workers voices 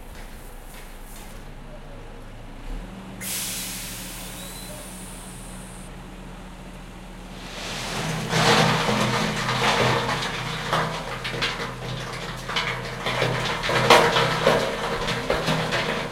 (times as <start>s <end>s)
3.9s 5.9s